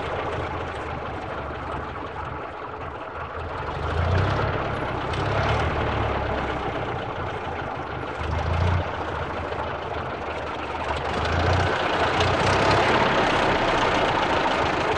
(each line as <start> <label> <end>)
0.0 Old Car 14.9